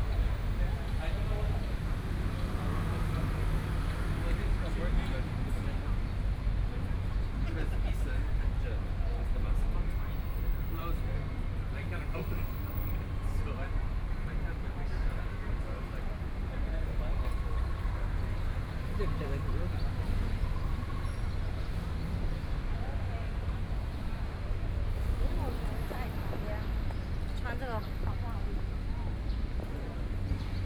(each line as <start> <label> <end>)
0.0 Traffic Sound 30.6